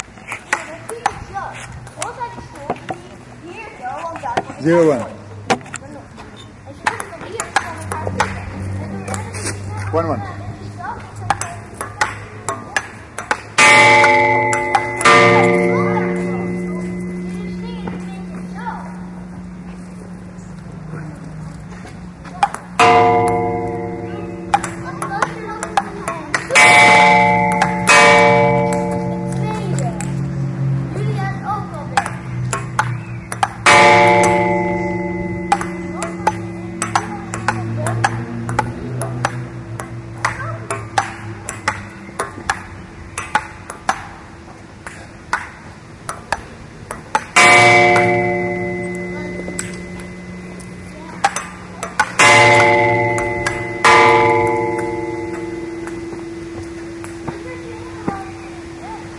ping-pong table 11.3 - 13.6
ping-pong table 24.4 - 26.6
ping-pong table 32.0 - 33.6
ping-pong table 35.5 - 44.2
ping-pong table 44.8 - 47.4

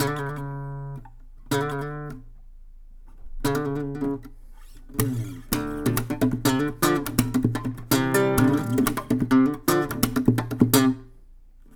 acoustic guitar slap 2 4.9 - 11.1

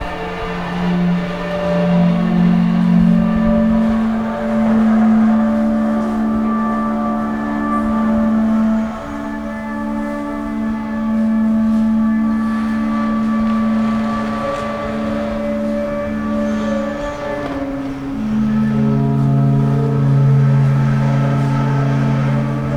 reverbereting drone 0.0 - 22.7

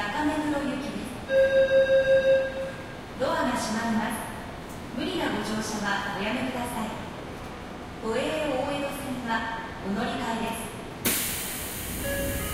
Train Station Engines 0.0 - 12.5

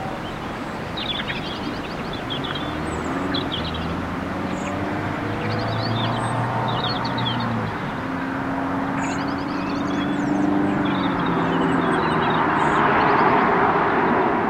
Robins 0.0 - 14.3
Blackbirds 0.0 - 14.4

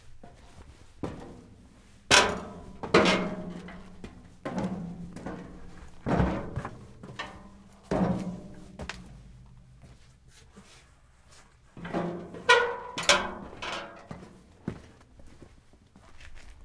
footsteps shoes metal stairs up down resonate 0.0 - 16.6

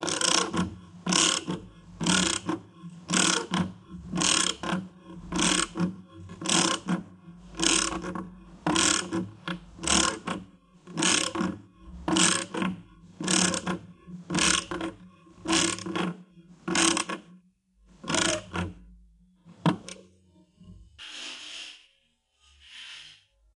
screw driver 0.0 - 5.8
screw driver 6.4 - 9.2
screw driver 12.1 - 16.0
screw driver 18.0 - 18.6

